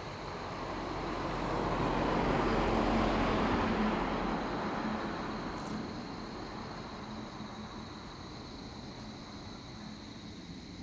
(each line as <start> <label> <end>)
0.0 Insect noise 10.8
0.0 traffic sound 9.1
3.8 Cicadas cry 10.8